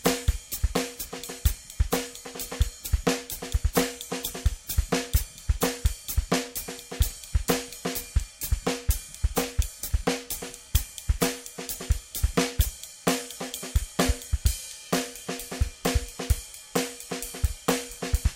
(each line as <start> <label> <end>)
0.0 drum 18.3